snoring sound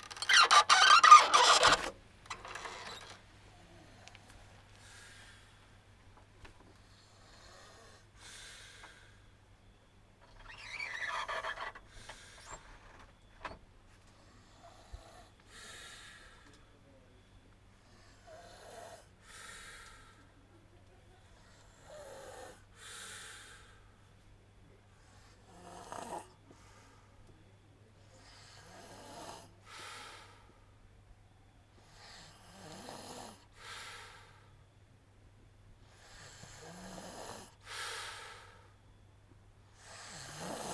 6.8s 9.0s, 14.2s 16.4s, 17.8s 20.0s, 21.4s 23.3s, 25.1s 26.4s, 28.1s 30.3s, 31.8s 34.1s, 35.8s 38.5s, 39.8s 40.7s

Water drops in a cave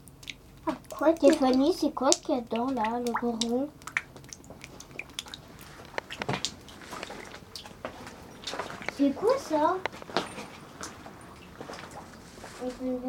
0.1s 7.8s

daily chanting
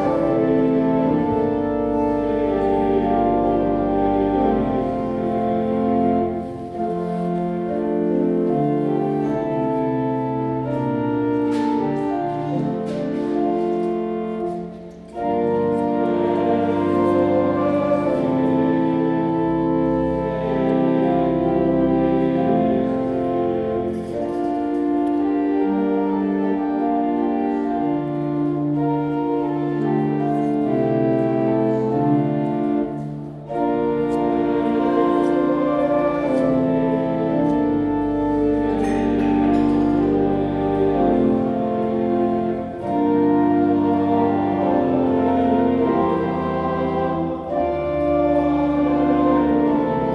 15.6s 19.0s, 33.5s 50.1s

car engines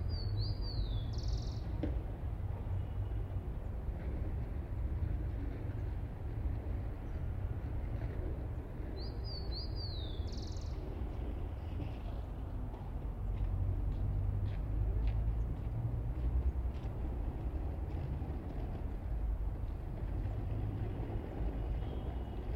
10.8s 22.5s

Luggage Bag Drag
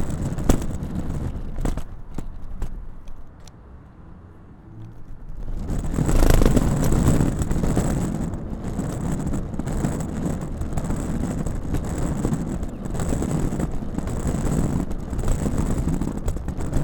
5.1s 16.8s

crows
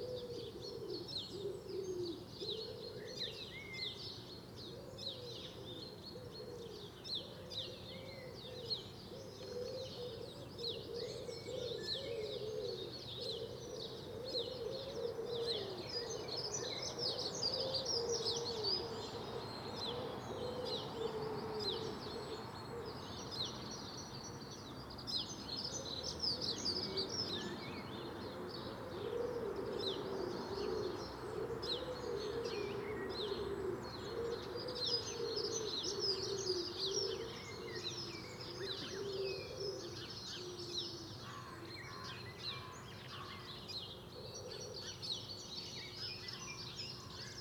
38.6s 43.6s

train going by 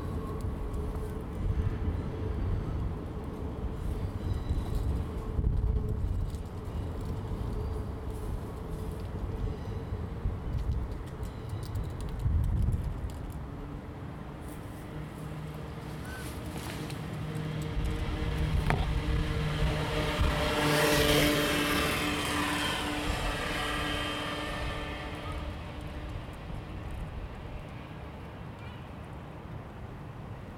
14.8s 28.5s

